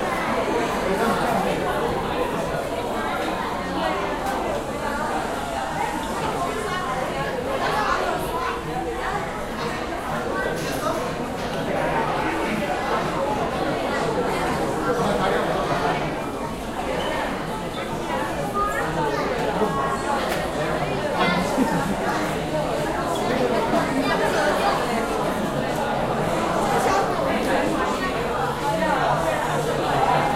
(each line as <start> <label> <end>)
0.0 People talking 30.3